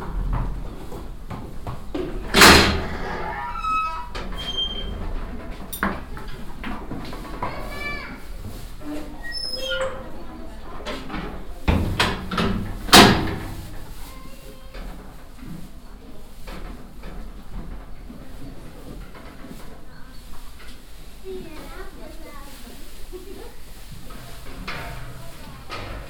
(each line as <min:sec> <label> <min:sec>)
0:00.0 steps and kids on the cobble stone pavement 0:26.0
0:02.3 eating and snorring horses 0:03.6